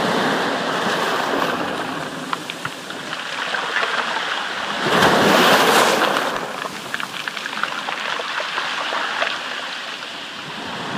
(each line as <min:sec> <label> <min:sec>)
0:00.0 medium-sized waves washing up onto a stony beach 0:10.9